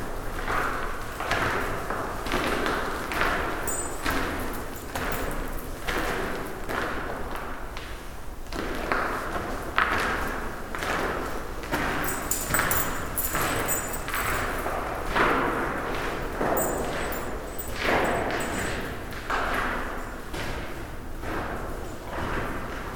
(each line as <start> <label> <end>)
1.9 Walking around with a dog on a lead 7.8
11.0 Walking around with a dog on a lead 22.6